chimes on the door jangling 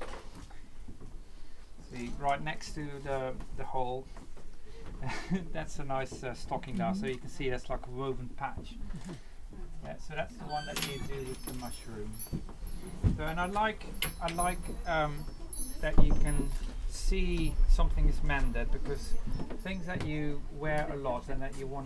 0:10.5 0:20.9

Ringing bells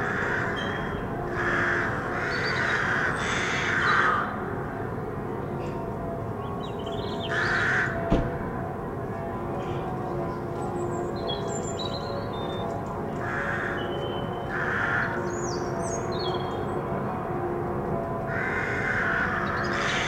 0:08.6 0:14.5

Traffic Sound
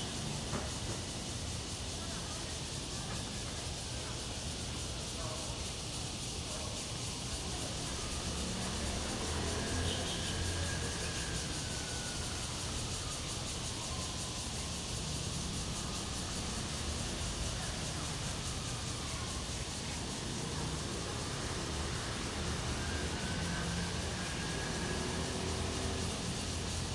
0:07.2 0:26.9

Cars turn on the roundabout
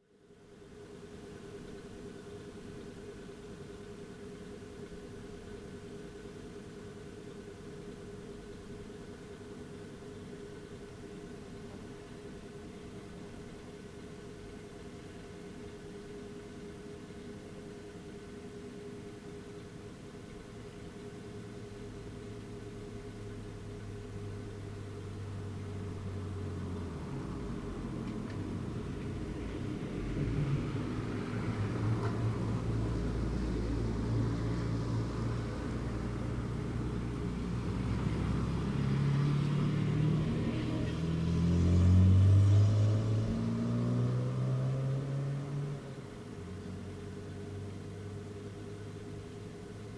0:22.8 0:49.9

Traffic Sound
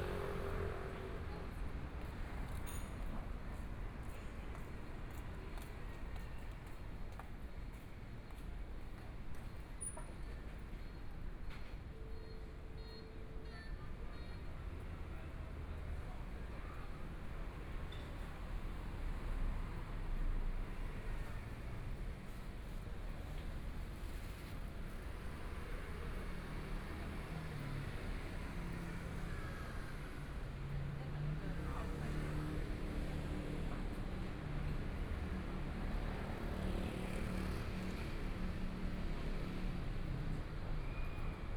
0:00.0 0:06.2, 0:16.6 0:41.5

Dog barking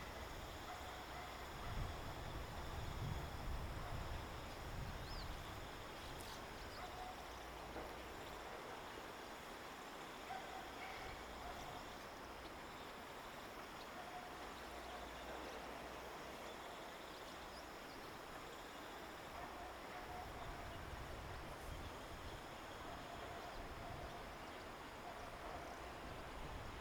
0:00.7 0:01.8, 0:06.8 0:07.2, 0:10.3 0:11.8, 0:19.4 0:20.4

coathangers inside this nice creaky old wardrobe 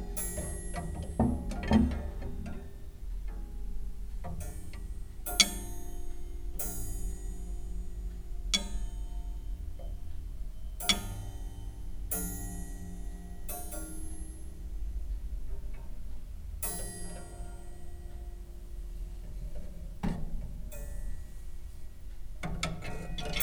0:00.0 0:03.5, 0:22.4 0:23.4

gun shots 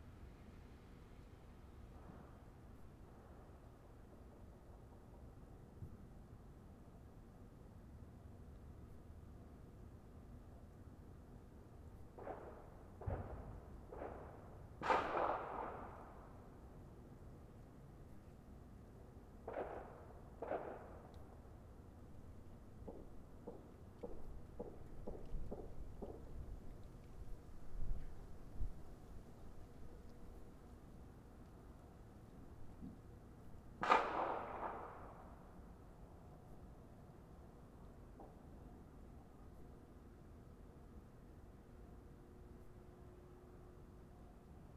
0:12.2 0:16.2, 0:19.4 0:21.2, 0:33.8 0:35.3

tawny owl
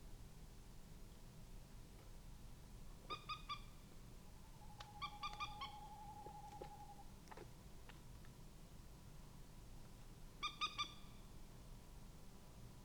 0:04.5 0:07.1

